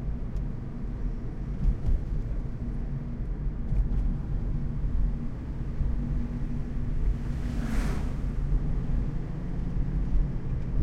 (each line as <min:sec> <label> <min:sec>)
0:00.0 INT CAR DRIVING 0:10.8